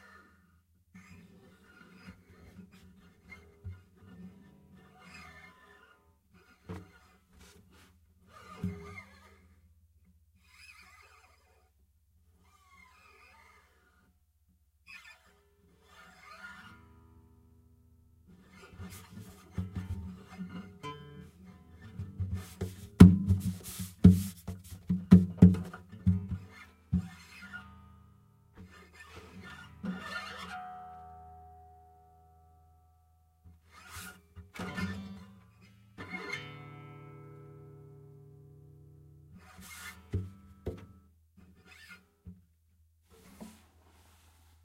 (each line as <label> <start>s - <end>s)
gliding fingers over the strings 18.3s - 25.6s
someone HANDLING an instrument 18.5s - 27.6s
rubbing 22.3s - 25.2s
gliding fingers over the strings 39.4s - 41.0s
someone HANDLING an instrument 39.4s - 44.6s